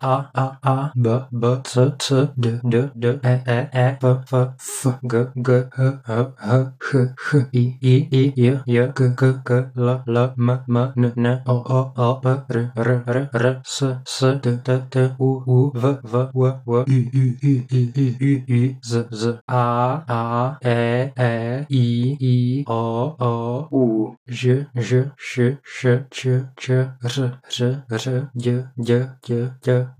22.7s speaking the letters of the alphabet 24.8s

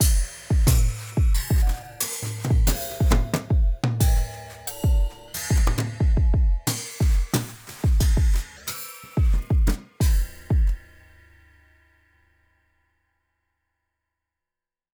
0.0s Weird metallic fx Perc 11.2s

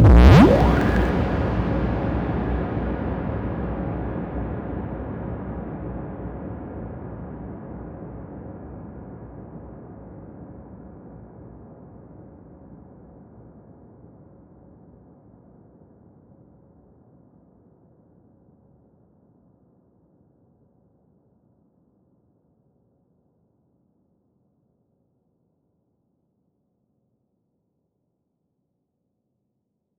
0.0s Abrupt Scary Swoop with Heavy Reverb 1.2s

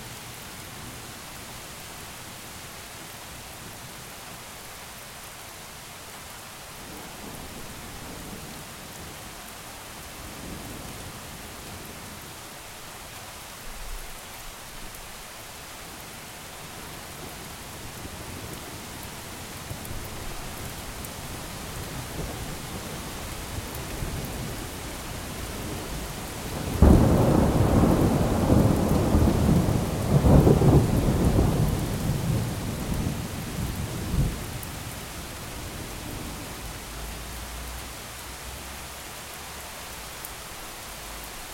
0.0s rain 41.5s

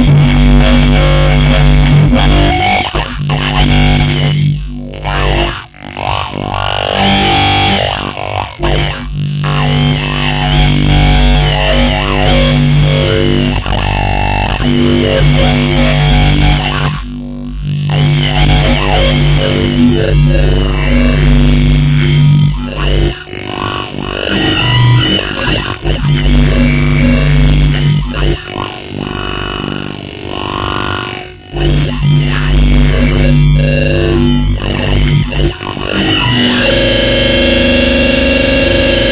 0.0s bass 39.1s

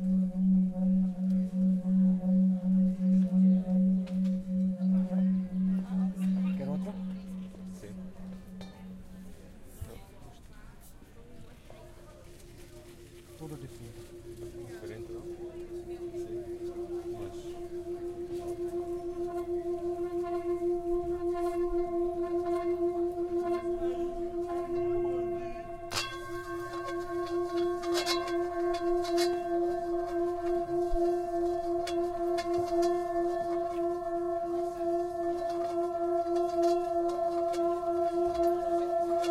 0.0s tibetan bowl 39.3s
0.0s voices 39.3s

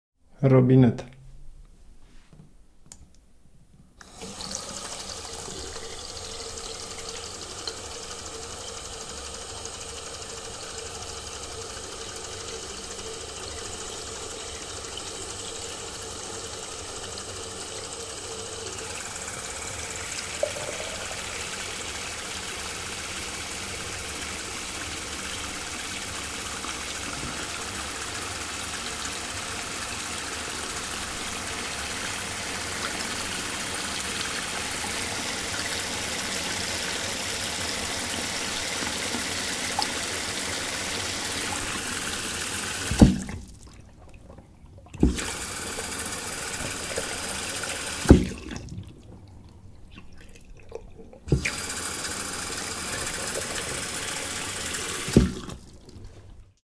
18.9s bathroom tap 49.0s
50.0s bathroom tap 56.0s

